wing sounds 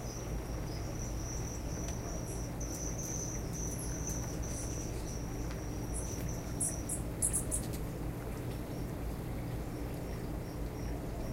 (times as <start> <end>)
0.0 7.9